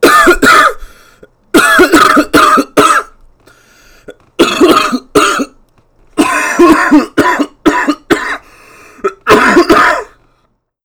cough 0.0 - 0.8
cough 1.6 - 3.2
cough 4.1 - 5.6
cough 6.2 - 10.2

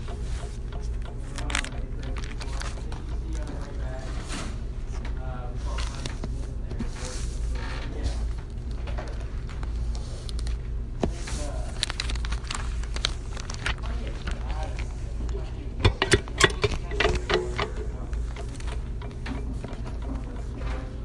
distant talking 13.8 - 21.0
Rattle 15.8 - 20.9

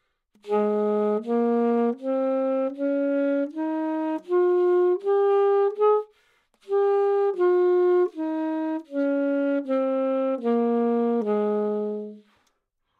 Sax Alto - G# Major 0.4 - 12.3

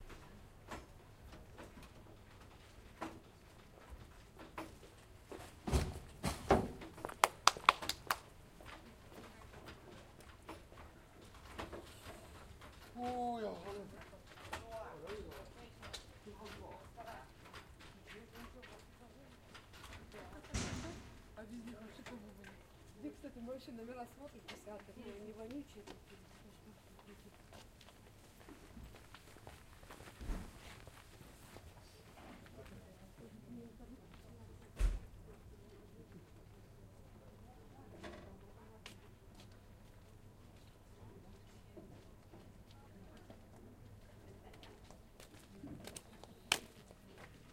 People get out of the wagon 0.0 - 7.9
People get out of the wagon 28.5 - 32.6

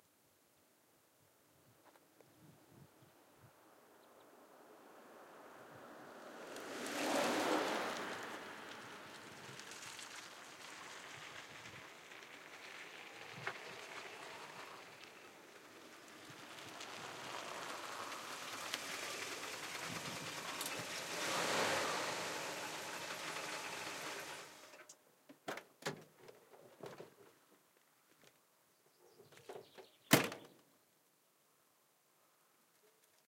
CADILLAC STOP 17.1 - 24.9

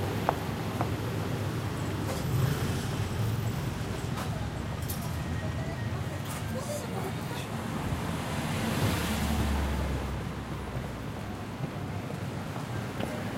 passing traffic 0.0 - 13.3
voices 3.2 - 9.8

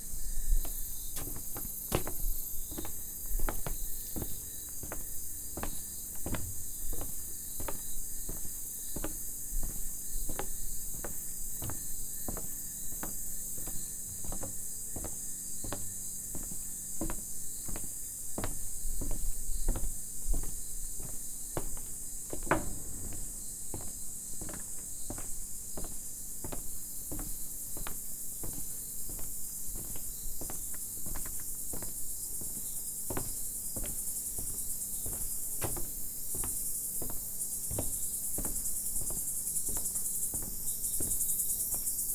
Walking on a wooden bridge 0.0 - 42.1

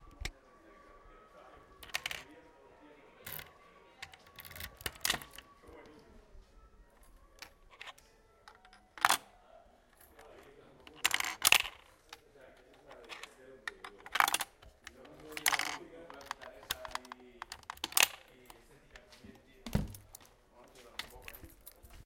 locker 6.9 - 20.3

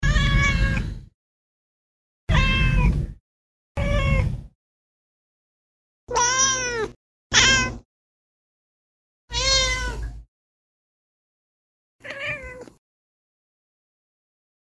cat meowing 0.0 - 0.9
cat meowing 2.3 - 3.0
cat meowing 3.8 - 4.4
cat meowing 6.1 - 7.8
cat meowing 9.3 - 10.1
cat meowing 12.0 - 12.8

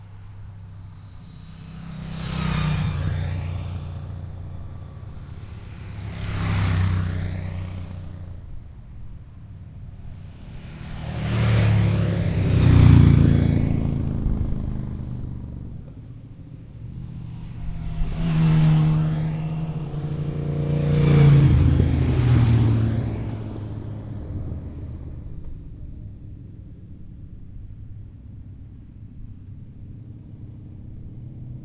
Motorcycles passing by 0.0 - 27.1
cars 0.0 - 31.6

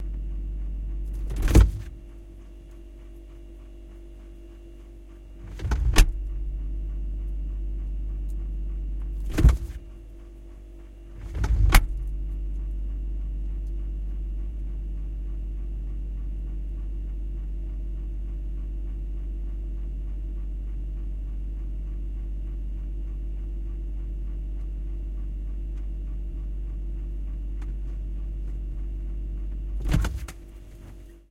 Refrigerator 0.0 - 31.3
Door 1.3 - 1.9
Door 9.3 - 9.8
Door 29.8 - 30.3

